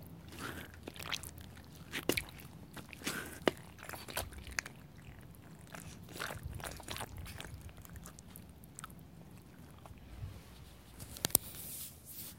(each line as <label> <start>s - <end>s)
Stepping on Stone immersed in mud 0.0s - 10.0s